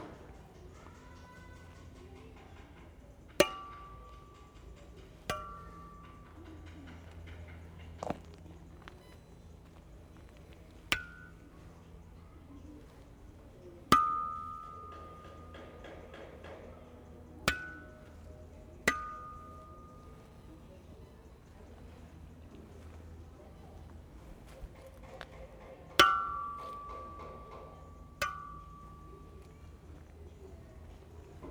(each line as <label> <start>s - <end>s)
bike stands are all metal that ring beautifully when hit by hand 0.0s - 31.5s
resonant railings 0.0s - 31.5s
sounds of work inside 0.0s - 31.5s